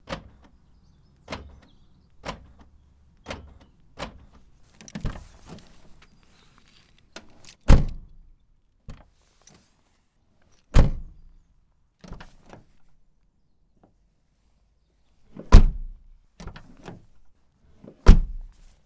Car Doors Opening 0:00.0 - 0:06.0
Unlocking 0:00.0 - 0:08.0

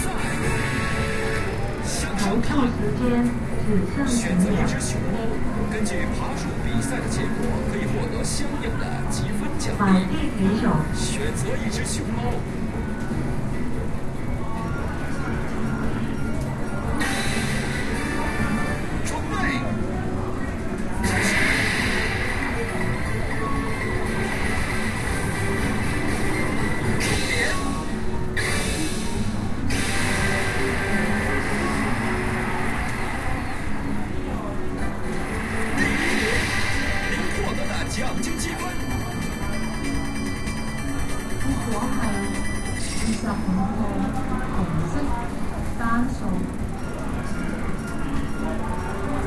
machines 0:00.0 - 0:49.2
bell 0:37.1 - 0:43.6

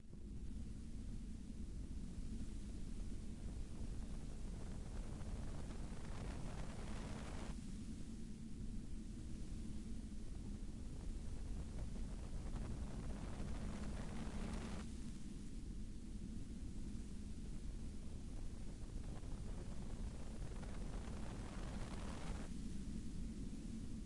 noise soft with cracks 0:00.0 - 0:24.0

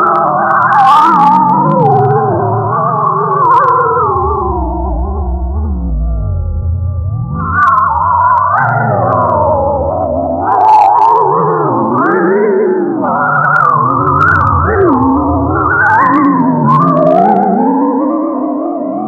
drone 0:00.0 - 0:19.0

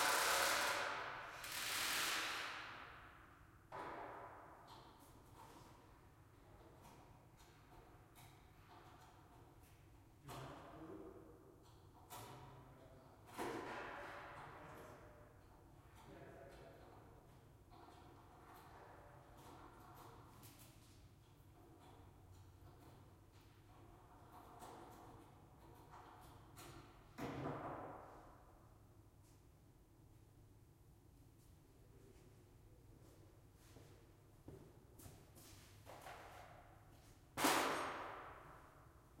minor construction going on 0:00.0 - 0:28.5

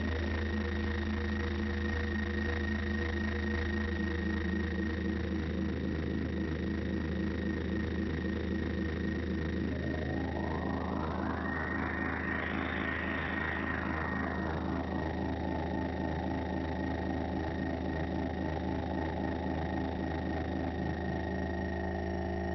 feedback 0:09.4 - 0:17.4

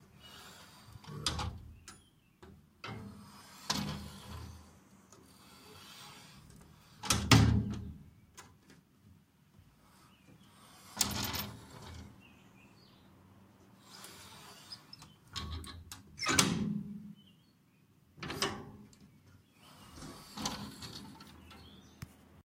Metal window being opened and closed 0:00.0 - 0:08.9
Metal window being opened and closed 0:09.9 - 0:12.3
Metal window being opened and closed 0:13.8 - 0:17.2
Metal window being opened and closed 0:18.2 - 0:22.0

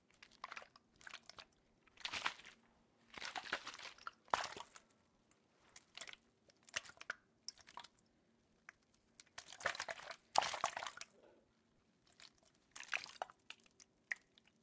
water shaking in plastic bottle 0:00.1 - 0:04.8
water shaking in plastic bottle 0:09.4 - 0:11.0

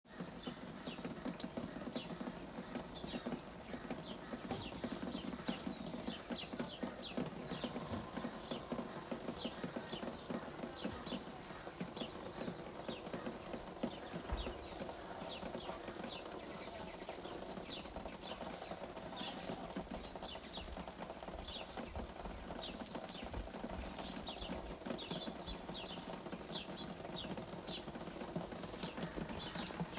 voices 0:00.3 - 0:20.7

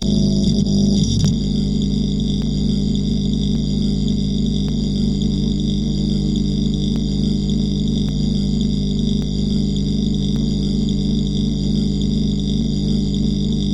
welder 0:00.0 - 0:02.8

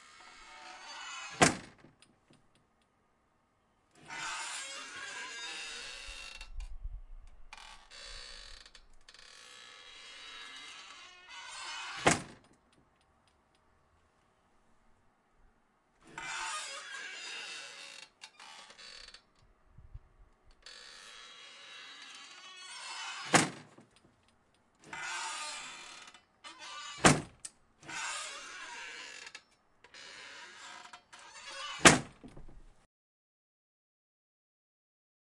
old style screen door opening and closing 0:00.0 - 0:02.9
old style screen door opening and closing 0:03.9 - 0:13.6
old style screen door opening and closing 0:16.0 - 0:19.5
old style screen door opening and closing 0:20.4 - 0:32.9
Squeaking 0:24.9 - 0:32.6

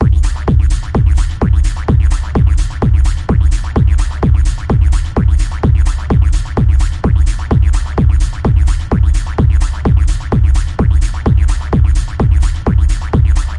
Techno 0:00.0 - 0:13.5

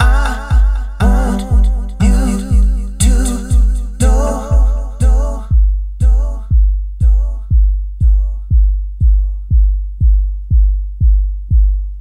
Vocal 0:00.0 - 0:10.6
808Kick 0:00.0 - 0:12.0

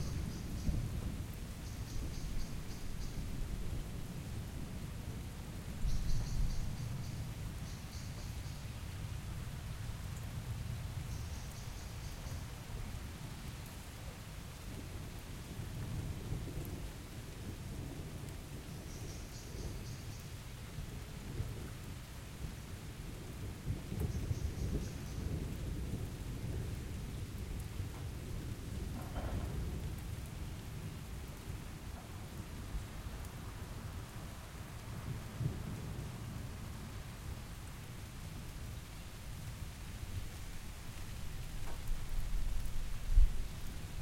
rain 0:00.0 - 0:44.0
thunders in the back 0:23.7 - 0:32.9

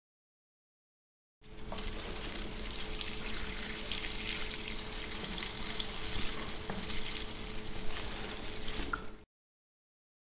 household chores 0:01.4 - 0:09.2

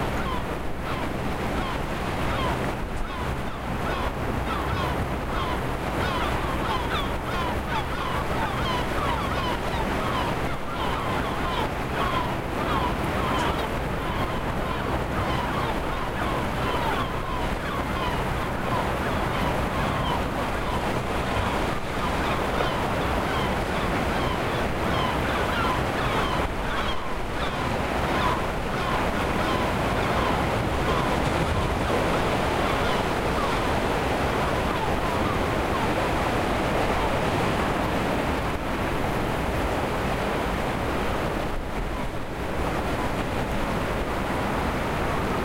Windy day 0:00.0 - 0:45.4
sea 0:00.0 - 0:45.4
seagulls flying 0:00.1 - 0:37.6

